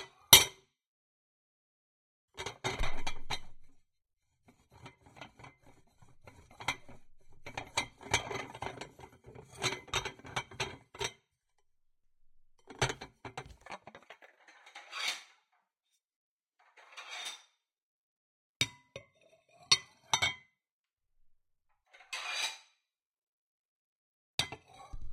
dishes 0:04.7 - 0:11.2

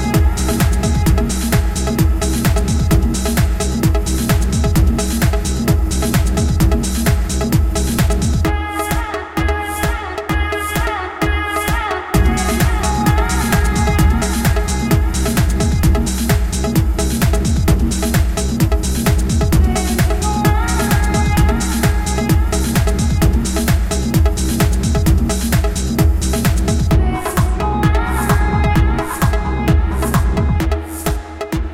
Electrobass music 0:00.0 - 0:31.7
beat 0:00.0 - 0:31.7
synth 0:11.5 - 0:31.7
voice 0:19.6 - 0:22.5
voice 0:26.9 - 0:31.0

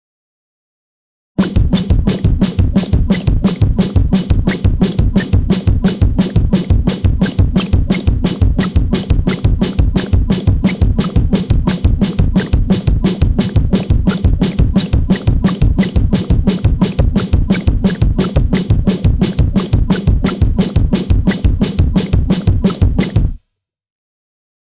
Bass Drum 0:01.4 - 0:23.4
Snare Drum 0:01.4 - 0:23.4

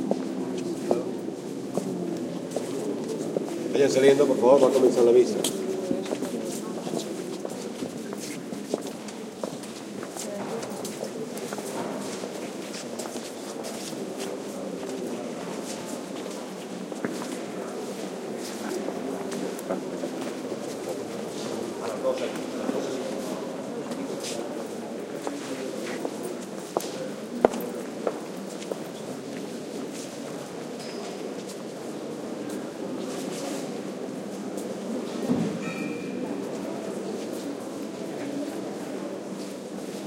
talk 0:01.8 - 0:08.4
talk 0:17.6 - 0:28.1

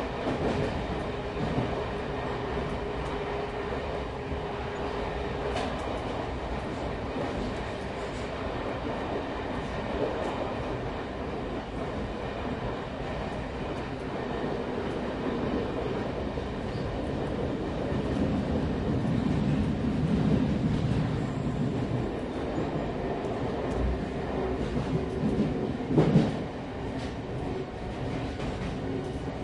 Train Tube Int In Transit 0:00.0 - 0:29.4

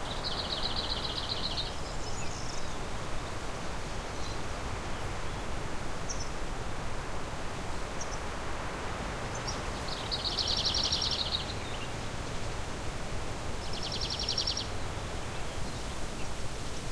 Wind in the larch tree 0:00.0 - 0:16.9
birdsong 0:09.3 - 0:12.0
birdsong 0:13.6 - 0:15.8

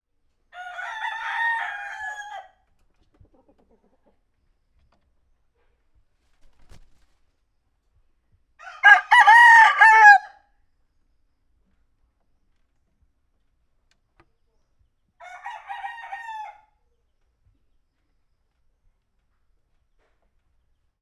Roosters 0:00.4 - 0:07.4
Roosters 0:08.6 - 0:10.5
Roosters 0:14.3 - 0:20.8

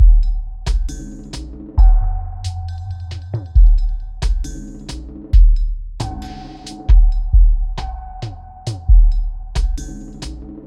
drum 0:00.0 - 0:10.6

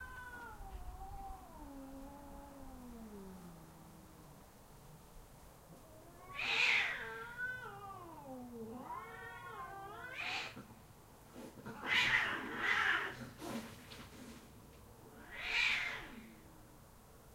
Cats Fighting 0:05.9 - 0:10.8
Cats Fighting 0:11.4 - 0:14.0

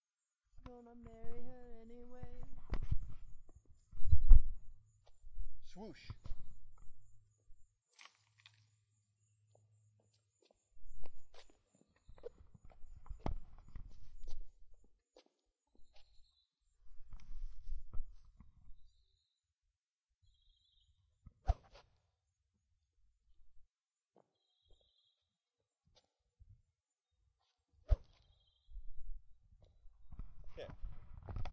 crickets 0:00.7 - 0:19.4
wind noise 0:01.0 - 0:05.6
birds 0:24.2 - 0:25.3
wind noise 0:30.0 - 0:31.5

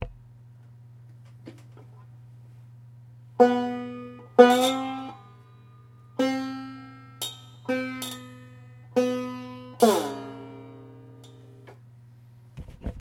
Tuning a banjo string up and down 0:03.4 - 0:11.9

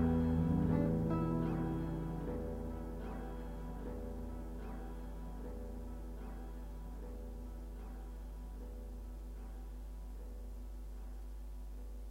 blues 0:00.0 - 0:07.5

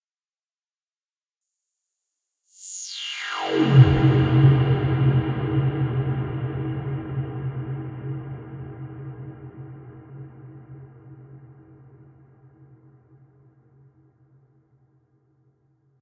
synths 0:02.4 - 0:12.8

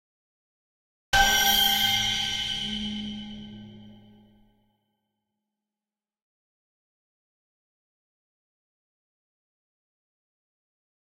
high pitch stab 0:01.2 - 0:04.3

